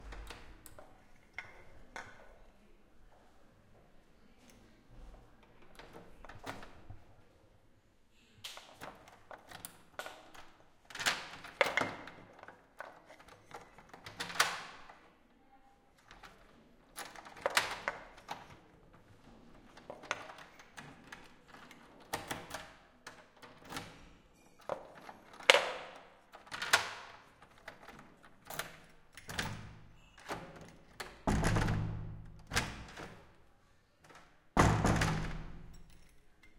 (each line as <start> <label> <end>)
5.5 door wood large with antique handle open close 7.1
8.6 door wood large with antique handle open close 15.1
16.0 door wood large with antique handle open close 36.5
19.7 hotel key 33.3
34.0 hotel key 36.5